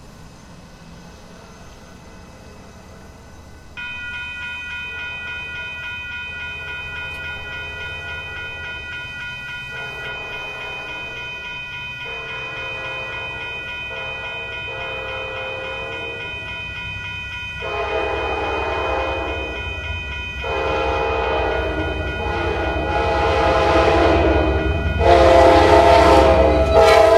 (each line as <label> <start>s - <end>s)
Short passenger train approaches & passes 0.0s - 27.1s